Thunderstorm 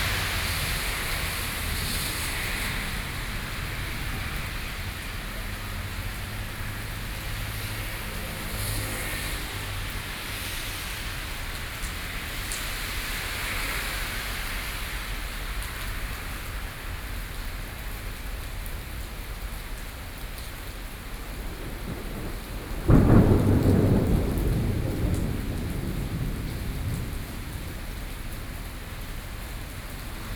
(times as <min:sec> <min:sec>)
0:00.0 0:14.4, 0:20.8 0:30.3